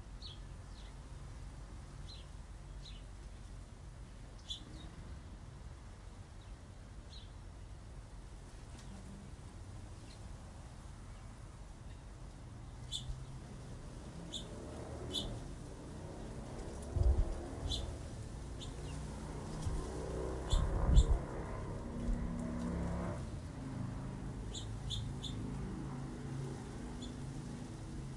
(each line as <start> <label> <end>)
0.2 Sparrows 1.1
2.0 Sparrows 3.2
4.3 Sparrows 5.2
12.7 Sparrows 13.5
14.2 Sparrows 15.5
16.2 Sparrows 21.2
24.4 Sparrows 25.6
26.8 Sparrows 27.6